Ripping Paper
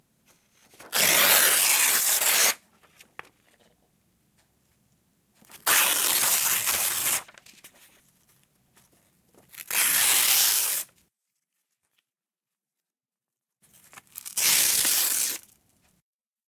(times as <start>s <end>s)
0.7s 2.6s, 5.5s 7.8s, 9.5s 11.0s, 13.7s 15.6s